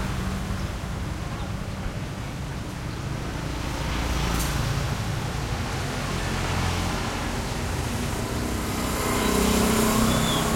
0.0s traffic medium busy 10.5s

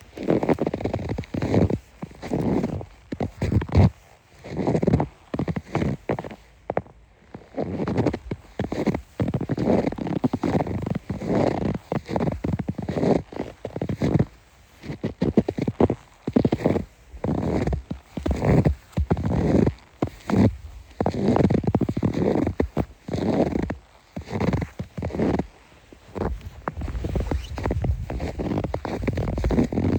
0.0s single person walking through a thick layer of snow 29.9s

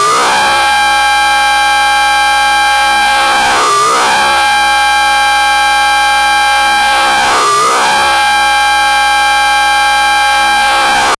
0.0s drone 11.1s

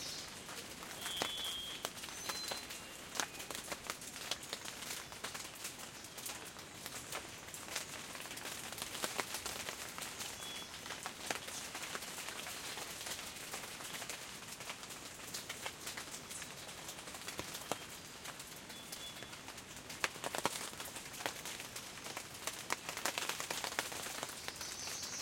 0.0s birds 3.6s
0.0s rain 25.2s
0.0s wind 25.2s

